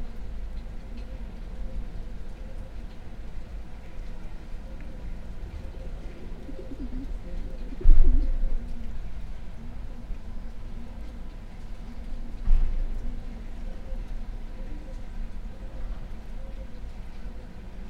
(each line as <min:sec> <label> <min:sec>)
0:01.0 pigeons 0:09.0
0:10.8 pigeons 0:17.7